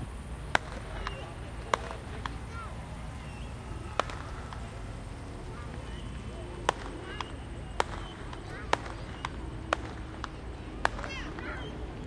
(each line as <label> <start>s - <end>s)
Personal fireworks 0.0s - 12.0s
cars 0.0s - 12.0s
crowd 0.0s - 12.0s